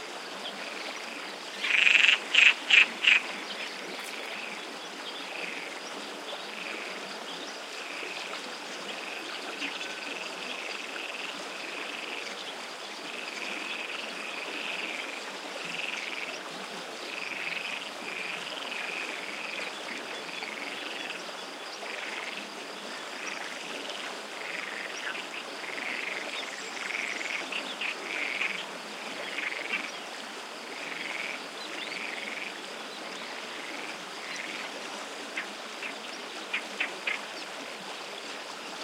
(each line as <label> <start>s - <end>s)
crickets 0.0s - 38.8s
frogs 0.0s - 38.8s
stream 0.0s - 38.8s